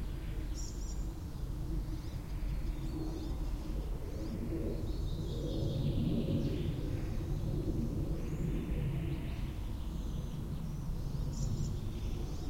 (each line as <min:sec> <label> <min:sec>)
0:00.0 airplane pass-by 0:12.4
0:00.0 birds 0:12.4
0:00.0 wind 0:12.4